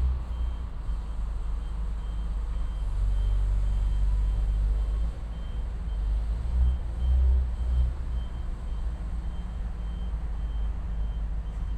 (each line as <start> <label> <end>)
0.0 specialized vehicle is moving containers from a train 11.7